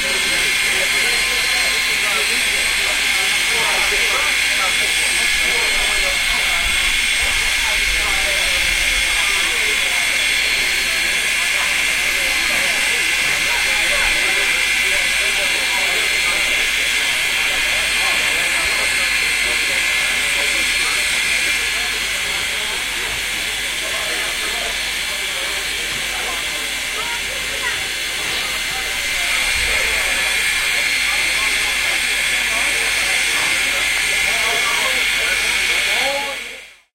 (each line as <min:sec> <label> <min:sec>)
0:00.0 steam train 0:36.9